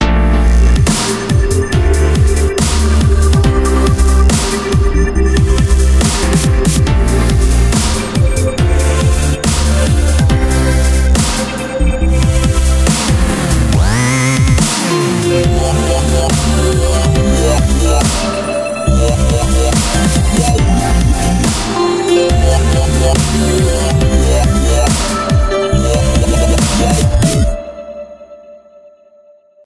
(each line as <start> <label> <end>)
0.0 bass 27.6
0.0 synth 28.8
0.0 piano 29.3